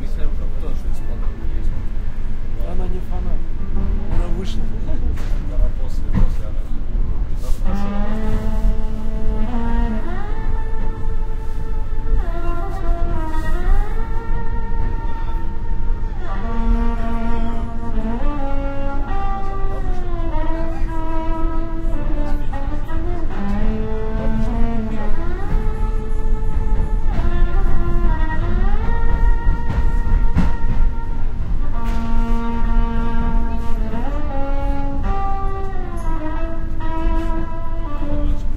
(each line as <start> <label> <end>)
0.0 Street musician plays violin 38.5
0.0 riding suburban train 38.5